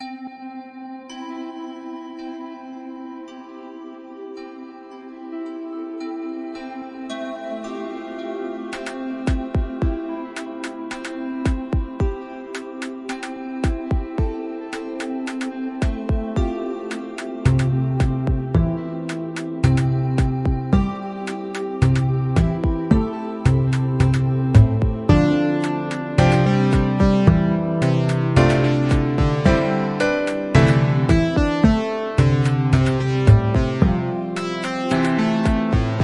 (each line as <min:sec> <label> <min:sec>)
0:08.7 music loop 0:36.0